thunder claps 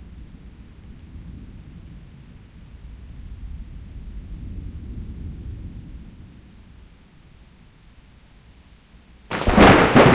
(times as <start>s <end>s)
9.3s 10.1s